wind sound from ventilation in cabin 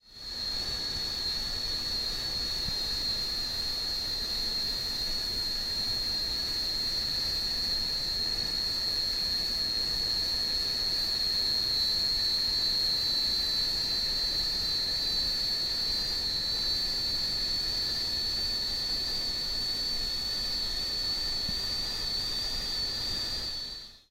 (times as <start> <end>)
17.1 23.7